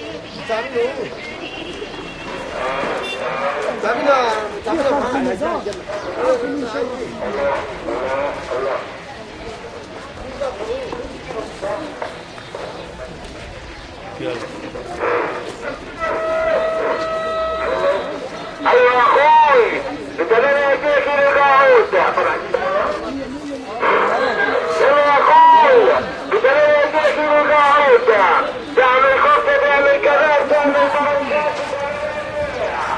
14.8s strident political message blared from a bullhorn 23.0s
23.8s strident political message blared from a bullhorn 32.9s

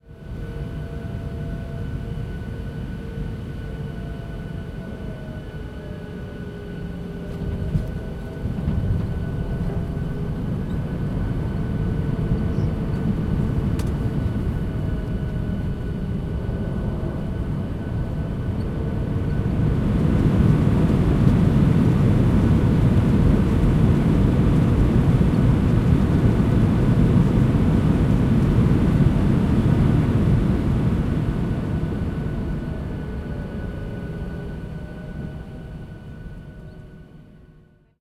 0.2s Commercial plane interior landing 37.6s

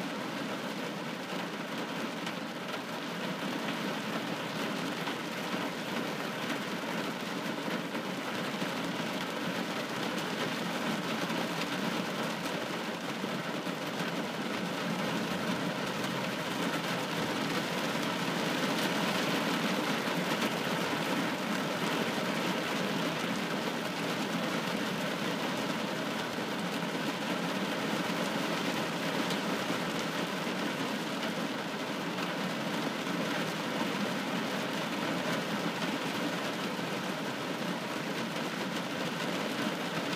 0.0s Heavy rainstorm 40.1s

